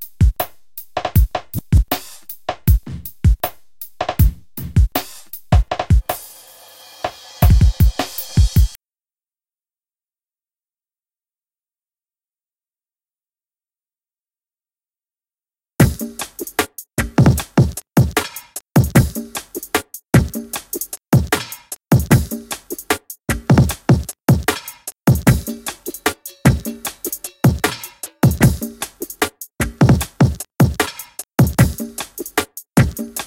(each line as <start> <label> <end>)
0.0 Bass 6.1
0.0 drums 8.8
15.8 drums 33.2